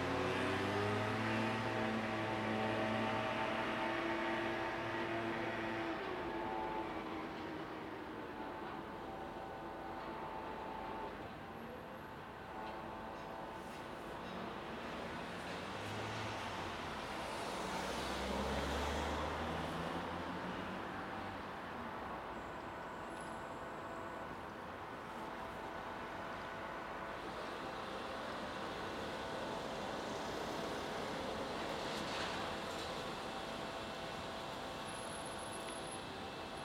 construction workers 0:00.0 - 0:18.4
a train passes under my feet 0:00.0 - 0:36.6
cars are driving across the bridge 0:00.0 - 0:36.6
construction workers 0:20.7 - 0:36.6

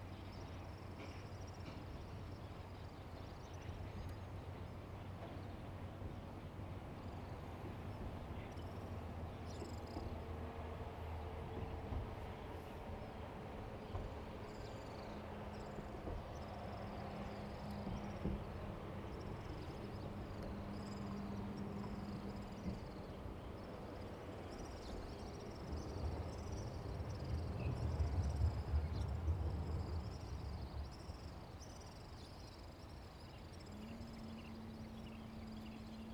Train traveling through 0:03.8 - 0:36.1
Birdsong 0:30.1 - 0:36.1

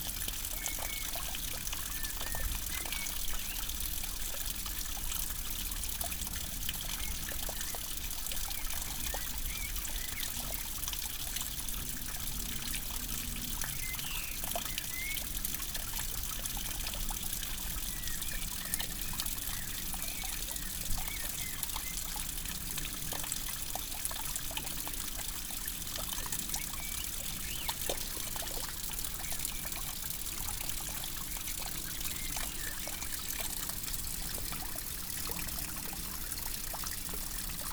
Rain on the nettles 0:00.0 - 0:37.7

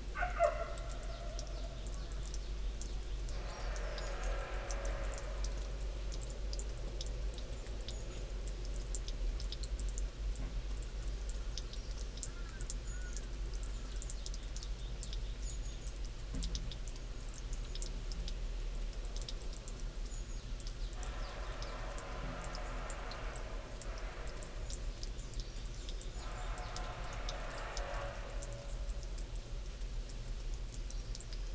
rooster 0:00.2 - 0:01.8

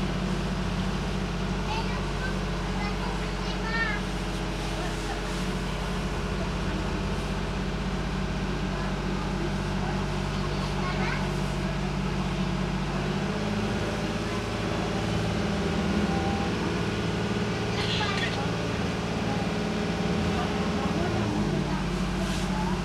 little girl speak in french 0:10.4 - 0:11.4

